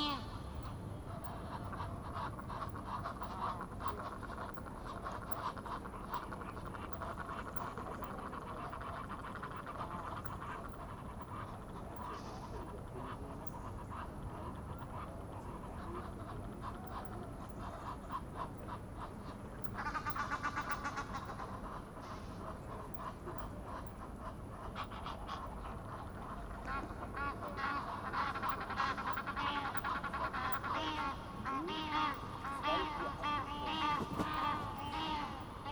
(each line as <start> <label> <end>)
24.7 Egyptian geese getting excited about the recordist, complaining 35.7